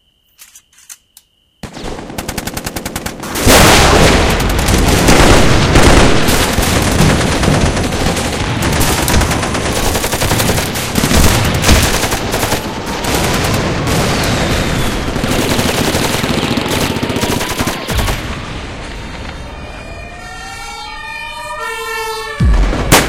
crickets 0.0 - 2.4
machine gun 1.6 - 18.4
explosions 3.2 - 9.8
explosions 10.5 - 15.6
helicopter 14.7 - 18.4
sirens 16.4 - 23.0
explosions 22.4 - 23.0

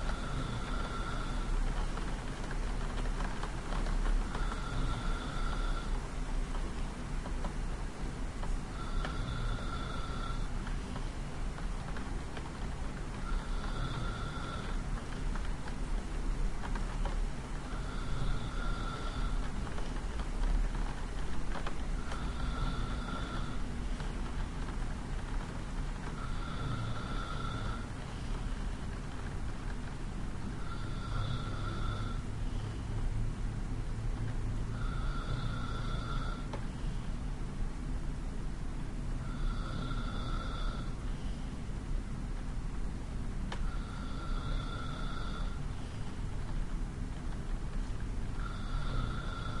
breath 0.0 - 6.0
breath 8.7 - 11.2
breath 13.2 - 15.4
breath 16.7 - 20.5
breath 21.6 - 25.4
breath 26.1 - 29.2
breath 30.6 - 33.0
breath 34.7 - 37.2
breath 39.2 - 41.6
breath 43.5 - 46.3
breath 48.4 - 49.6

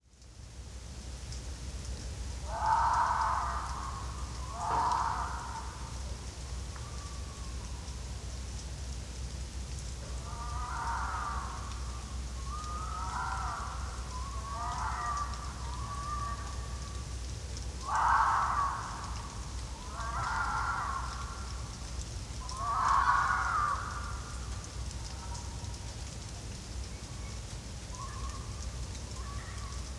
rain 0.0 - 29.9
fox 2.4 - 7.5
fox 10.0 - 17.1

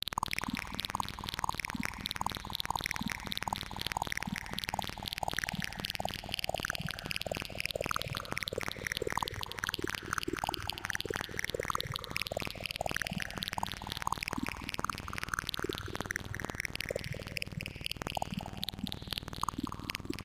Squelch 0.1 - 20.2

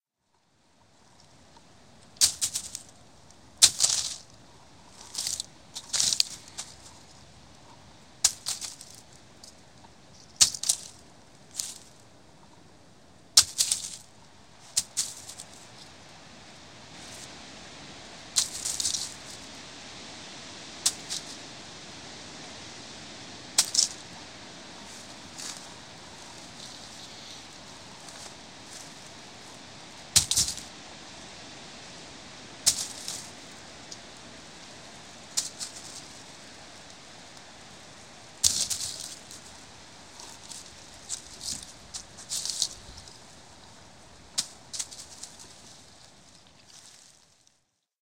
breeze 0.2 - 47.6
Pine cones dropping and landing on a bed of pine needles 1.0 - 12.5
Pine cones dropping and landing on a bed of pine needles 13.4 - 16.0
Pine cones dropping and landing on a bed of pine needles 18.3 - 19.5
Pine cones dropping and landing on a bed of pine needles 20.8 - 21.6
Pine cones dropping and landing on a bed of pine needles 23.5 - 30.8
Pine cones dropping and landing on a bed of pine needles 32.6 - 47.5

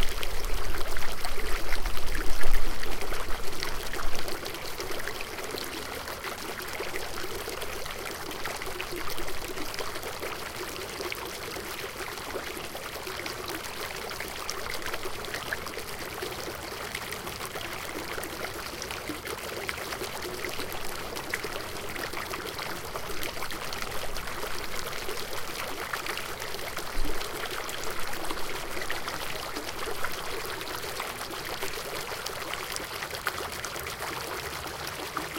Water feature consisting of several angled spigots 0.0 - 35.3

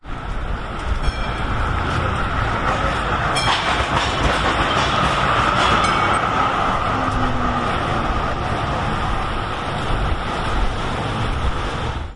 Tram passes Left to Right over crossover 0.0 - 12.1
point blades moving as tram wheels pass over 0.2 - 11.9
Tram bell 0.6 - 8.4

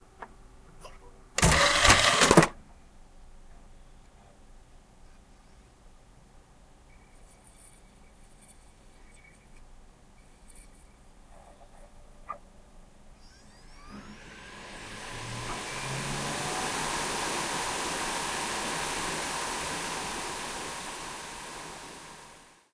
drive 1.4 - 2.6
drive 13.2 - 22.6

